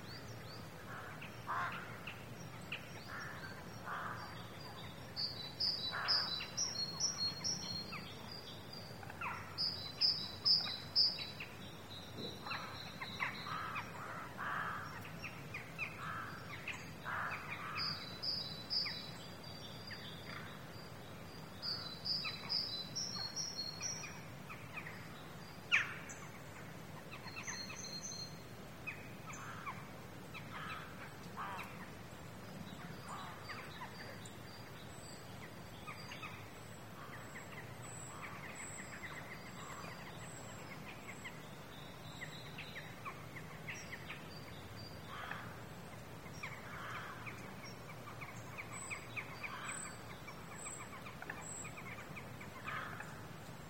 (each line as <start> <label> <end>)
0.9 Crows 2.1
3.1 Crows 4.5
12.3 Crows 15.1
15.8 Crows 18.0
29.3 Crows 31.8
45.1 Crows 45.6
46.4 Crows 47.5
52.6 Crows 53.3